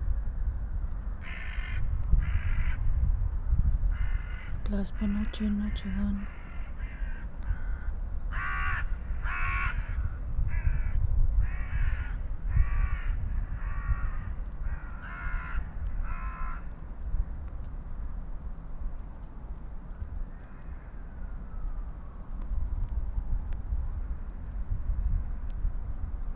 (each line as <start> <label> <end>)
0.0 wind 26.3
0.9 crows on their regular path 22.5
4.6 spoken words 6.3